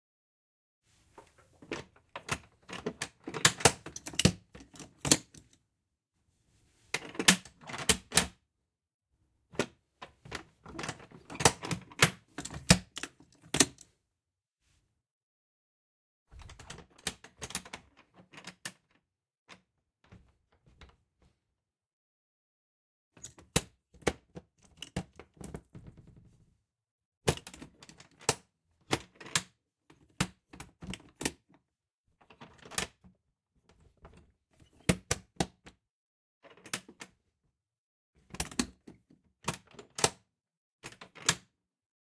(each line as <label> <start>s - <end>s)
various latch/locks being used for opening/closing 1.7s - 5.5s
various latch/locks being used for opening/closing 7.0s - 8.4s
various latch/locks being used for opening/closing 10.7s - 13.9s
various latch/locks being used for opening/closing 36.5s - 37.1s
various latch/locks being used for opening/closing 39.4s - 40.2s